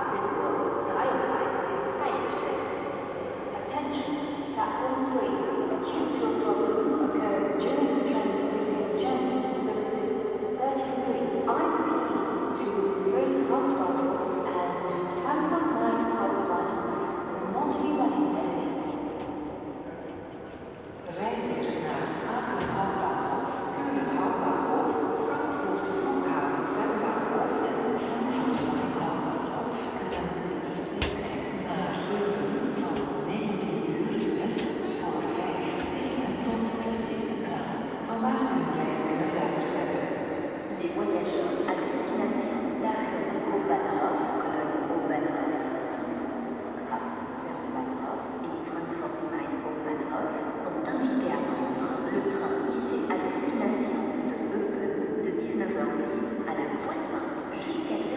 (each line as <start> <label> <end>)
0.0 Announcements melting in the main station 58.1